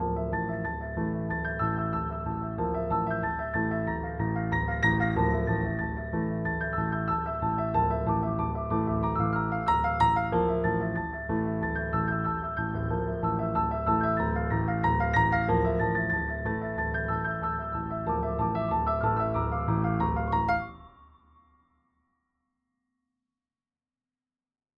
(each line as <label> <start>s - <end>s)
piano 0.0s - 21.6s